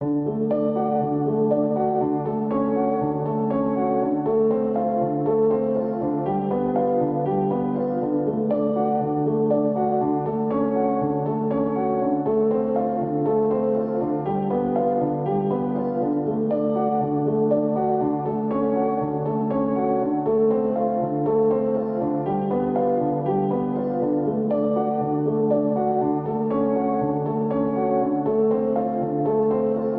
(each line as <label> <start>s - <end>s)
piano 0.0s - 29.9s